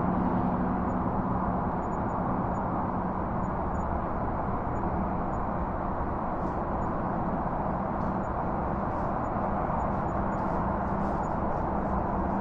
0.0s skyline highway traffic distant far or nearby haze 12.4s
6.4s distant camper activity 12.4s

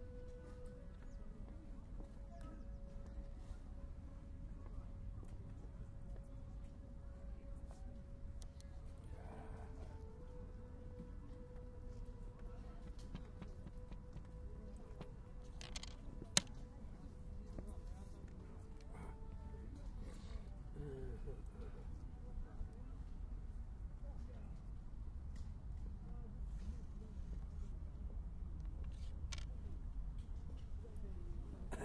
16.2s voice 23.0s
30.6s voice 31.8s

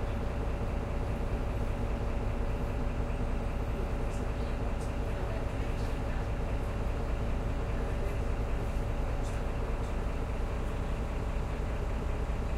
0.0s URBAN BUS 12.5s

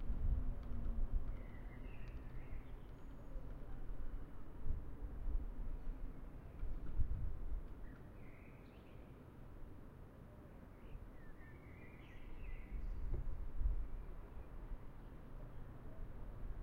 0.0s bus 16.6s
1.2s birds 3.9s

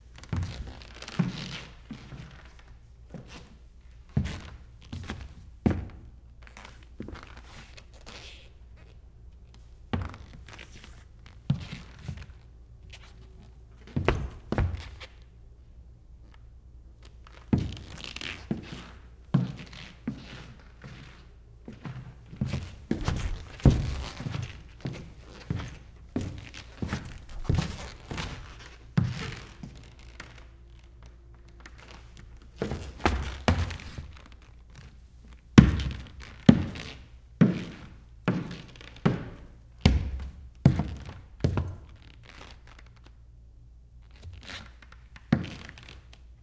19.4s footsteps 31.0s

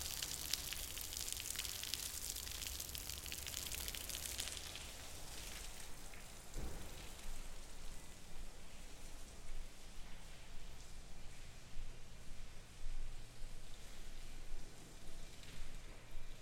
0.0s Water is leaking 5.8s

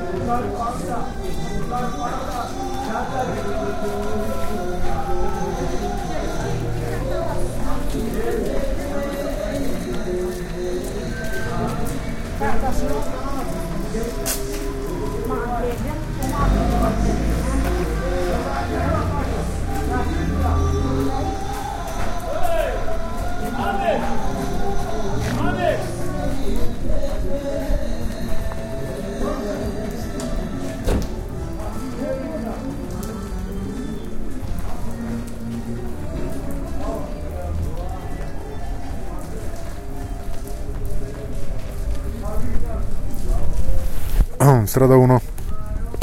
0.0s music 44.5s
0.0s street sounds 46.0s
45.2s music 46.0s

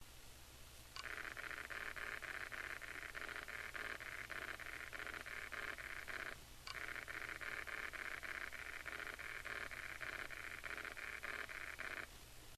1.0s hitachi laptop 60gb nospin buzzing 12.1s

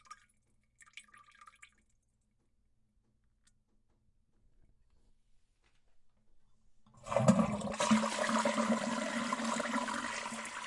7.0s flush 10.6s

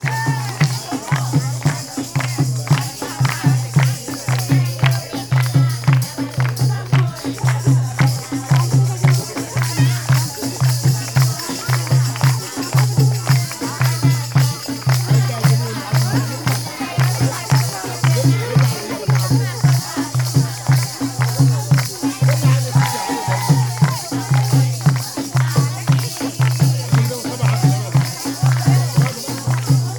0.0s bells 29.9s

